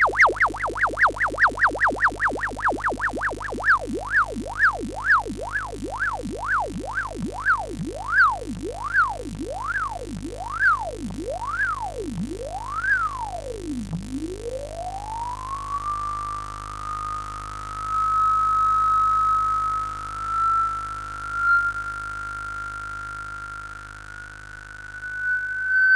0.0s Analog bubbles 15.4s

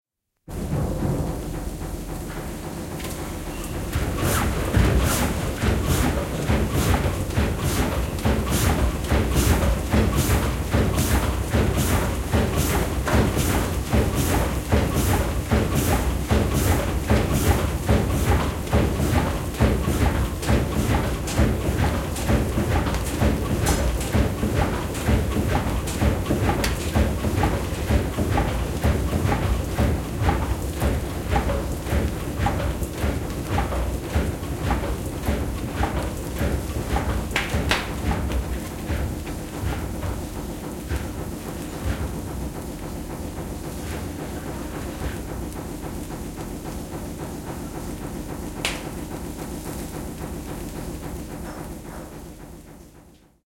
0.5s steam engine starts and stops in an engine room 53.4s

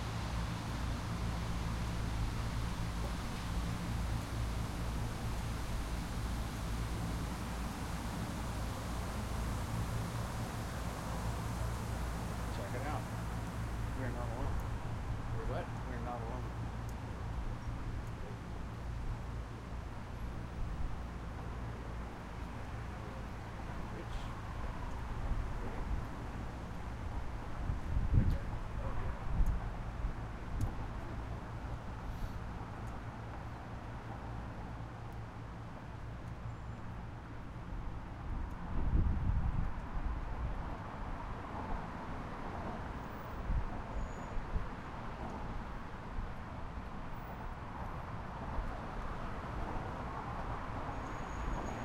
0.0s bicycles 51.8s
0.0s traffic 51.8s
24.5s wind noise 30.8s
38.2s wind noise 41.9s

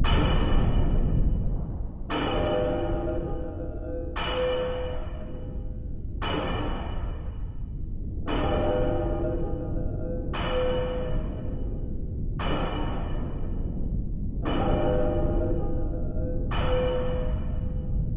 0.0s drone 18.1s

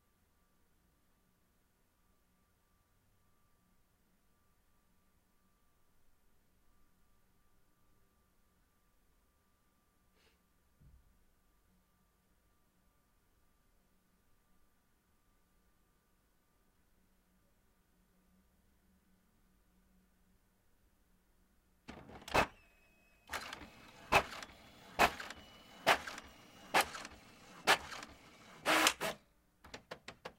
21.9s printing 30.3s

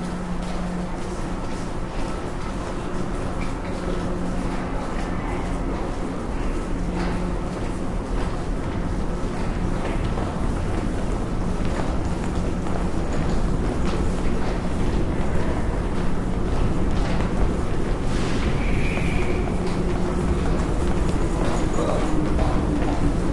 0.0s People walk 23.3s
18.6s Speaker with information about the metro 23.3s

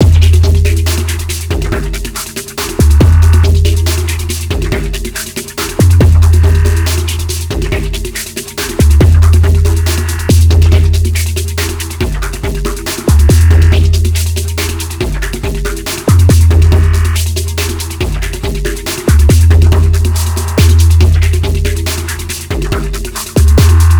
0.0s bassbeat 23.9s
0.0s drums 23.9s

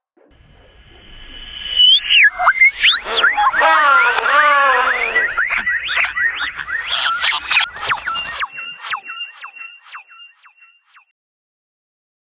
0.4s trippy alien animal sounds 8.4s

